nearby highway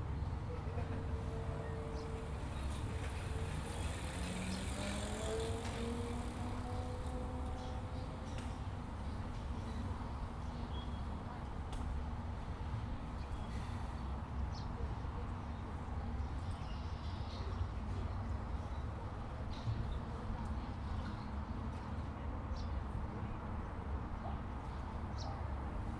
0.0 10.0

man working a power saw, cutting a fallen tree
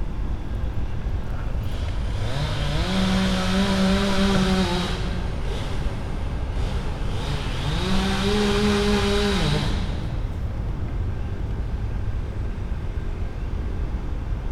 1.7 10.4

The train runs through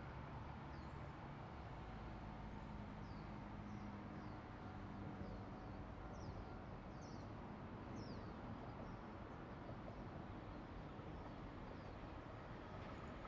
8.4 13.2

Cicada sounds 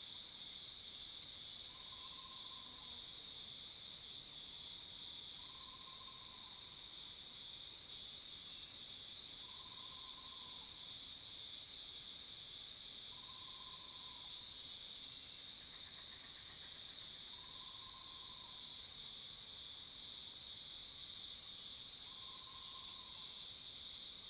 1.6 3.6, 13.1 19.7, 20.3 24.2

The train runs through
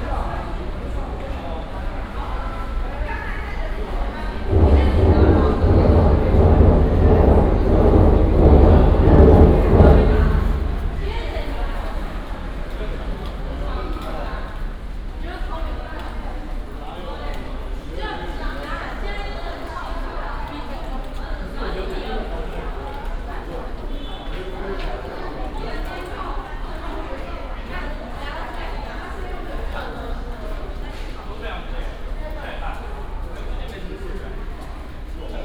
0.0 15.0

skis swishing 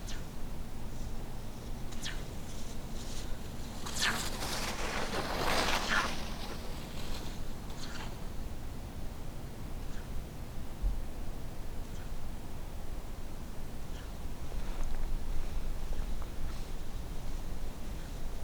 2.0 8.5

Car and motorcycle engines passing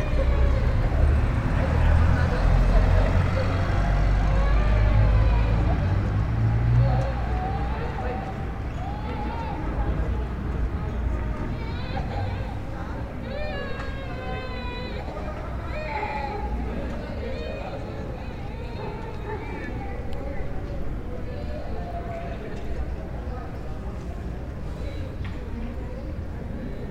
0.0 8.6

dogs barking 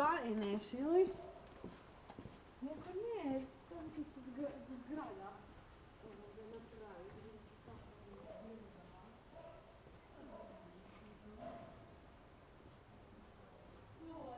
9.3 10.7, 11.4 11.9

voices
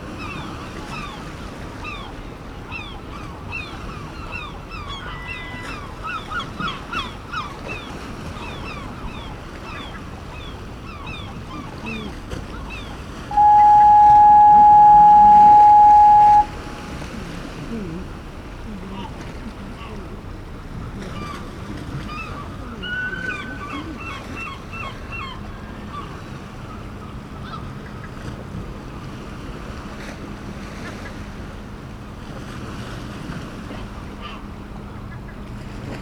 13.3 20.2

